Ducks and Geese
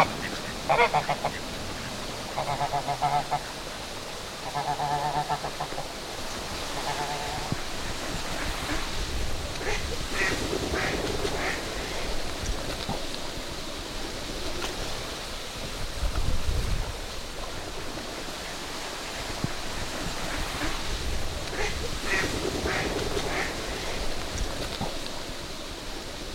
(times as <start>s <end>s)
0.0s 3.6s, 4.4s 5.9s, 6.5s 8.9s, 9.5s 11.9s, 21.4s 24.1s